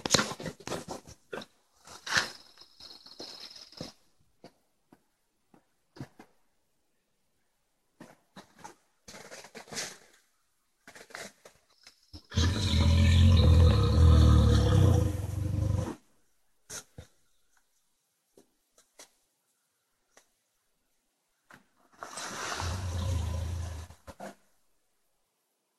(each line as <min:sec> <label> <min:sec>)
0:12.2 bear vocalization 0:16.0